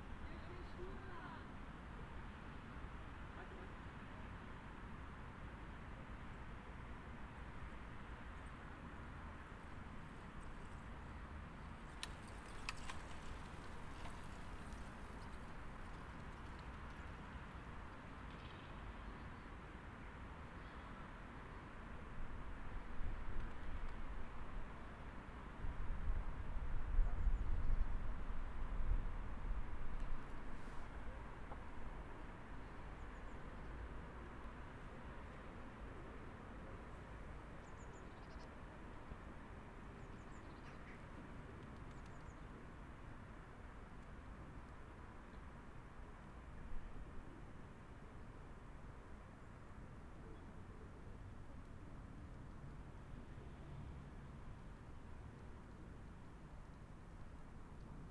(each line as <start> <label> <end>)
0.1 conversation between a woman in the park and her husband 1.9